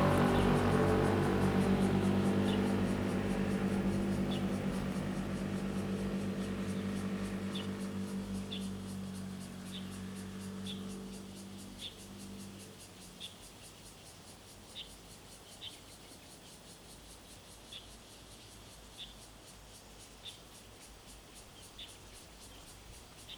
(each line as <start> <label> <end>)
0.0 Traffic Sound 13.7
0.0 Birds singing 17.9